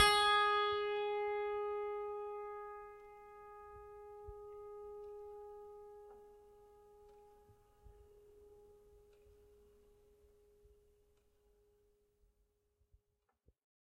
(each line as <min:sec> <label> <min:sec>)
0:00.0 piano strings played with a finger 0:08.7